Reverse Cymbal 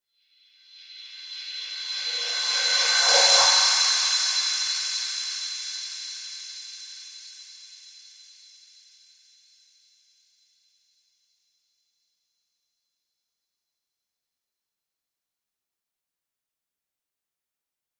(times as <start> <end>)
0.8 8.0